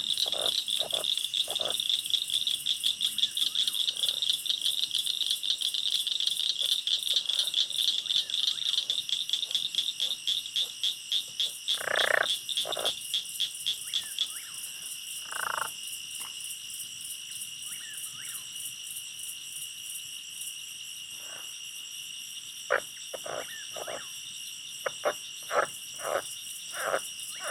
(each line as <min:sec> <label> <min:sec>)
0:00.0 Insects 0:27.5